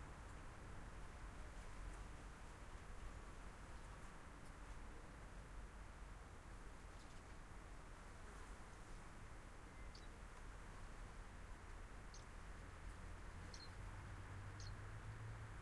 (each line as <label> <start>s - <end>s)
cars 12.5s - 15.6s
swallows being fed by their parents in the nest 13.4s - 13.8s